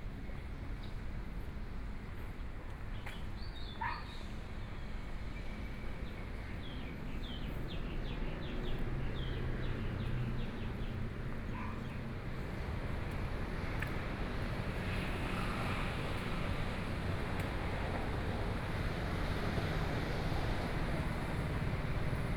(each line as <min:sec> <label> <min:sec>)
0:05.8 walking on the Road 0:22.3
0:07.6 Traffic Sound 0:22.3
0:11.5 Dogs barking 0:11.9